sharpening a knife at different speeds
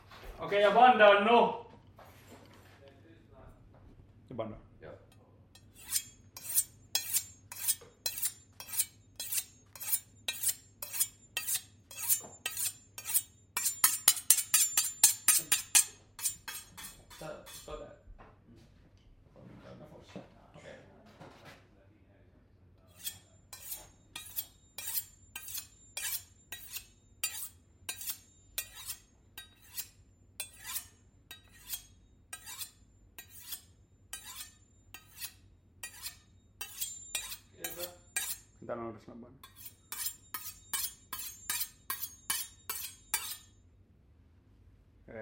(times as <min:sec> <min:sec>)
0:05.6 0:17.8, 0:22.9 0:38.6, 0:39.4 0:43.6